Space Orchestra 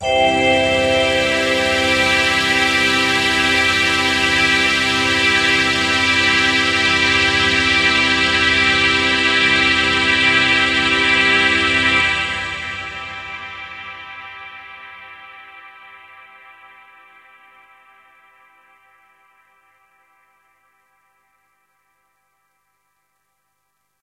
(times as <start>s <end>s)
0.0s 14.7s